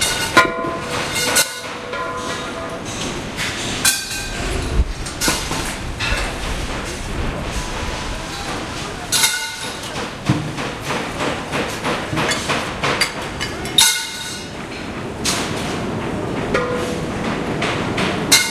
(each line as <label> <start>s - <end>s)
machine 0.0s - 18.5s
clang 13.8s - 14.5s
hammer 17.6s - 18.5s